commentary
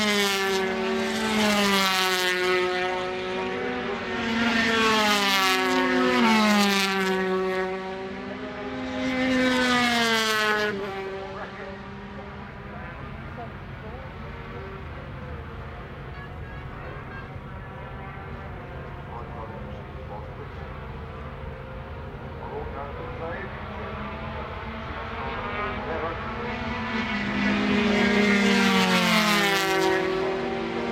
0:10.6 0:28.8

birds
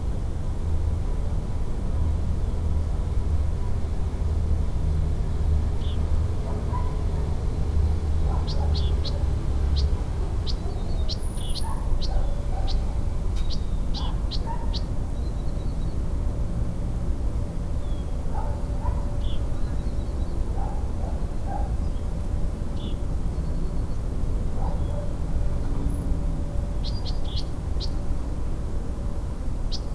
0:07.9 0:16.0

